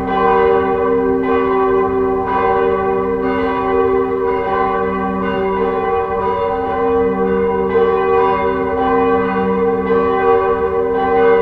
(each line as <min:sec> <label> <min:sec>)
0:00.0 bells 0:11.4